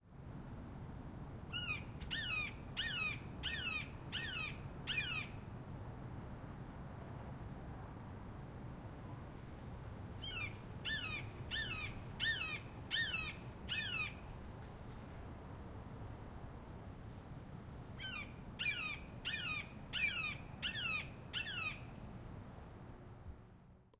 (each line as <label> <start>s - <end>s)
call of a Cooper's Hawk 1.5s - 5.4s
call of a Cooper's Hawk 10.2s - 14.2s
call of a Cooper's Hawk 18.0s - 21.9s